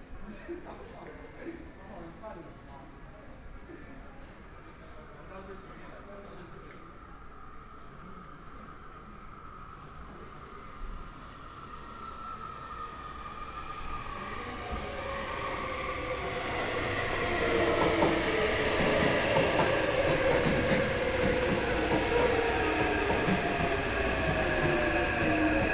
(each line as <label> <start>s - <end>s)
Train stops 6.8s - 25.7s